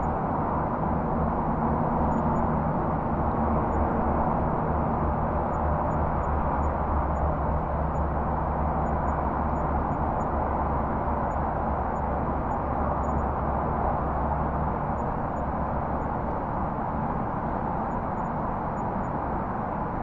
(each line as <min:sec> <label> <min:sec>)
0:00.0 skyline highway traffic distant far or nearby haze 0:20.0
0:11.2 light crickets 0:13.3